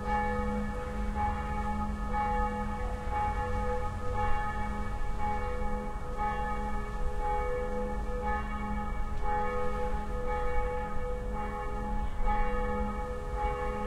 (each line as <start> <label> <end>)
0.0 Churchbells 13.8